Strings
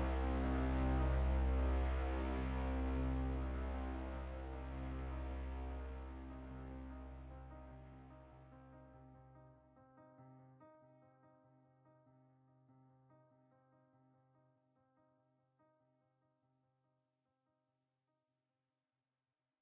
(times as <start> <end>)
0.0 8.2